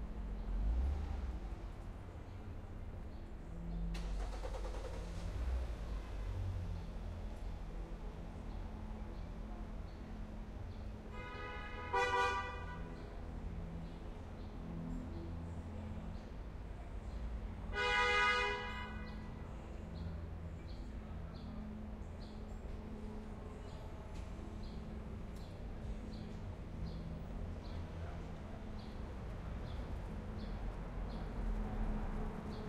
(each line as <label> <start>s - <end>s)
traffic 0.0s - 32.6s
music in vehicle passby 0.2s - 1.7s
train 1.5s - 32.6s
music in vehicle passby 3.6s - 9.5s
music in vehicle passby 19.2s - 32.6s